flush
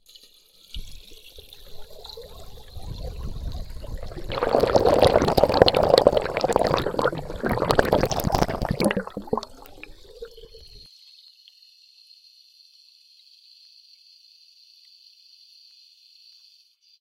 0.0s 10.8s

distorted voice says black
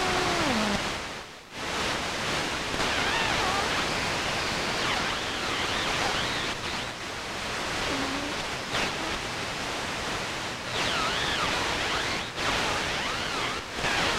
7.8s 9.2s

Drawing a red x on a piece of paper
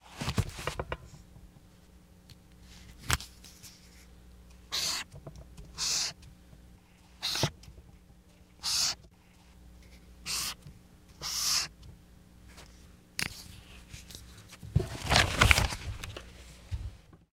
7.2s 7.5s, 11.2s 11.7s

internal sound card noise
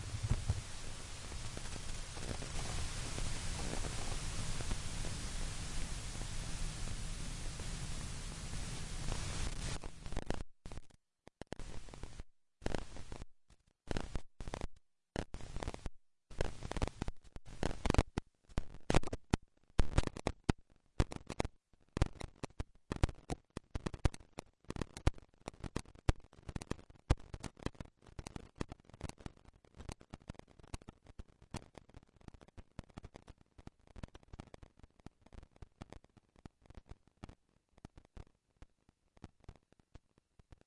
0.0s 9.8s

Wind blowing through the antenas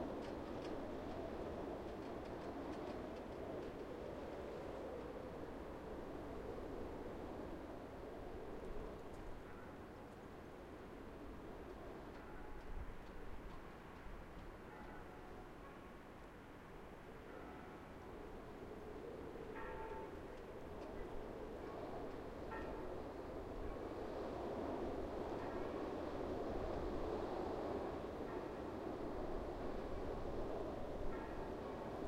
18.1s 32.0s

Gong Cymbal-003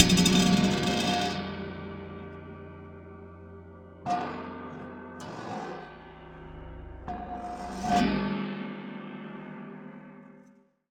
0.0s 1.7s

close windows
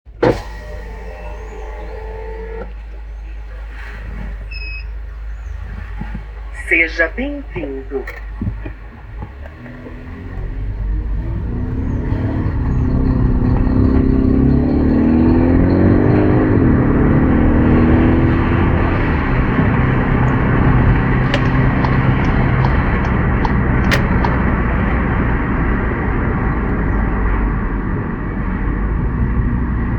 0.1s 16.2s, 17.4s 25.2s

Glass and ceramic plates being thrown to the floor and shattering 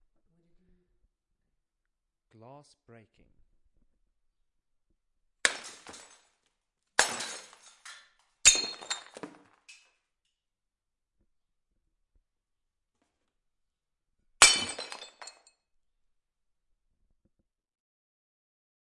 5.5s 6.3s, 7.0s 9.9s, 14.4s 15.5s

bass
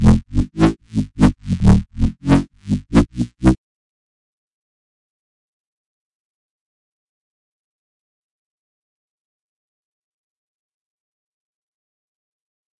0.0s 3.6s

